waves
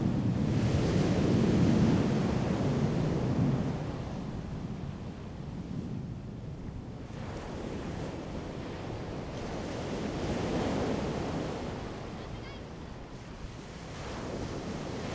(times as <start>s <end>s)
7.3s 15.1s